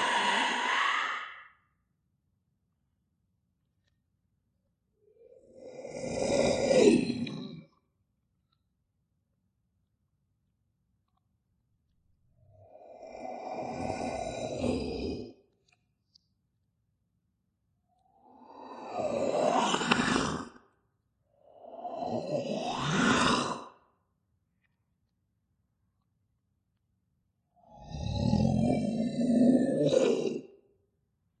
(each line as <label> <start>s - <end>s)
DINOSAUR ROAR 0.0s - 1.5s
DINOSAUR ROAR 12.9s - 15.4s
DINOSAUR ROAR 18.4s - 20.6s
DINOSAUR ROAR 21.7s - 23.8s
DINOSAUR ROAR 27.7s - 30.5s